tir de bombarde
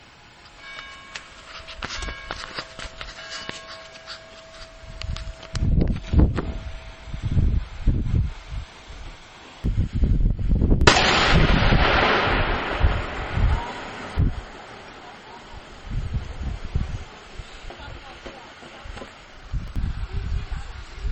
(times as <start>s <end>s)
10.8s 18.3s